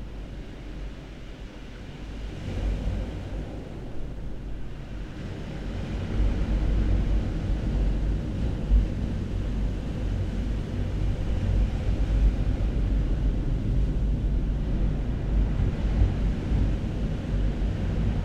turbulent ocean 0.0 - 18.2

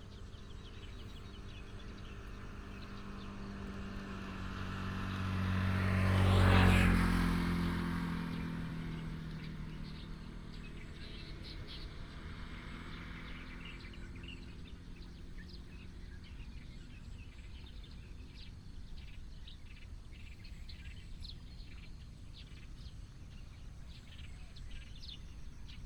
Birds sound 0.0 - 25.8
traffic sound 0.0 - 16.0

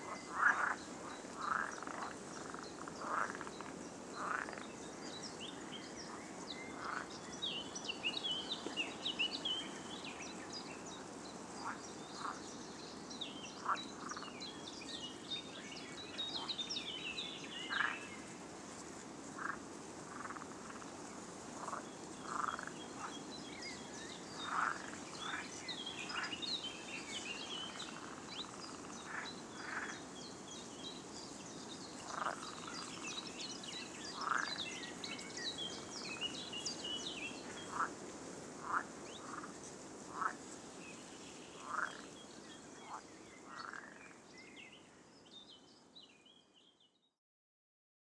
frogs 0.0 - 4.8
wind 0.0 - 47.2
frogs 6.2 - 7.1
frogs 11.6 - 12.4
frogs 13.6 - 14.4
frogs 17.6 - 18.0
frogs 19.4 - 21.0
frogs 21.6 - 23.2
frogs 24.4 - 30.1
frogs 31.9 - 33.1
frogs 34.1 - 35.0
frogs 37.4 - 38.0
frogs 38.6 - 40.5
frogs 41.6 - 42.2
frogs 42.8 - 44.2

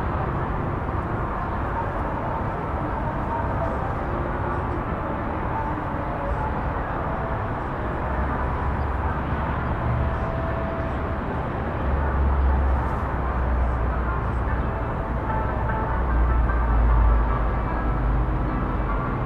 City ambient 0.0 - 19.2
music 0.0 - 19.2

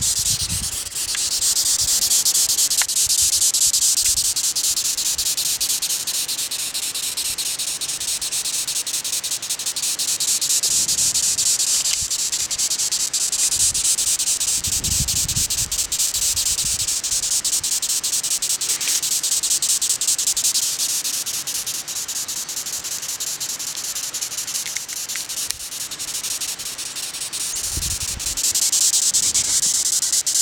cerambycidae bug (insect) 0.0 - 30.4

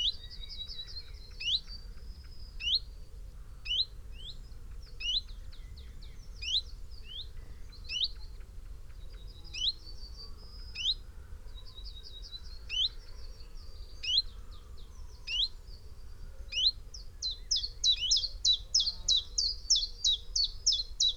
blackbird 16.5 - 21.1
blue tit 16.5 - 21.1

